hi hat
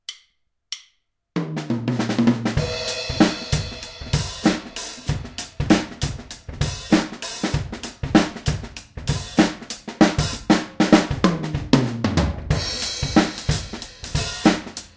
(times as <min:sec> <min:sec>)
0:02.5 0:11.8, 0:12.6 0:14.9